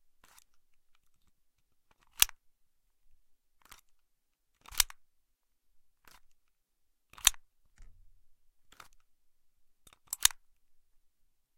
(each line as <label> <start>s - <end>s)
airsoft handguns, both metallic and ABS (Plastic), being cocked 1.9s - 2.4s
airsoft handguns, both metallic and ABS (Plastic), being cocked 4.6s - 5.0s
airsoft handguns, both metallic and ABS (Plastic), being cocked 7.1s - 7.4s
airsoft handguns, both metallic and ABS (Plastic), being cocked 9.9s - 10.4s